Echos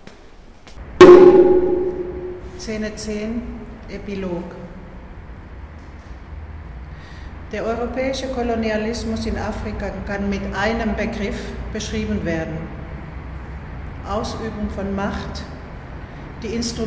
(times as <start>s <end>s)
1.0s 3.0s